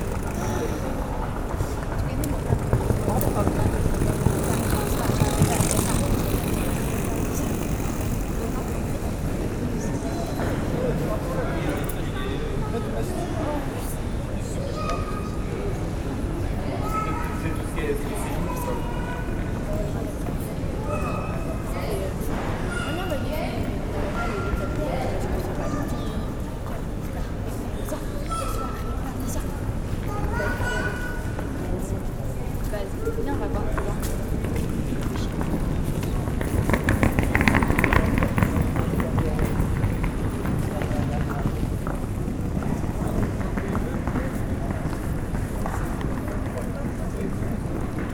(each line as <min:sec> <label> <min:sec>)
0:00.0 taking the train 0:11.1
0:24.0 taking the train 0:28.0